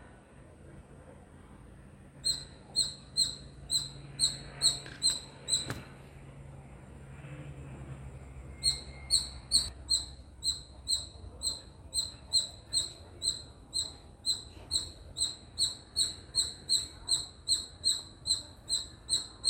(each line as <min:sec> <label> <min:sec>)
0:02.2 squirrel chirping 0:05.8
0:08.6 squirrel chirping 0:19.4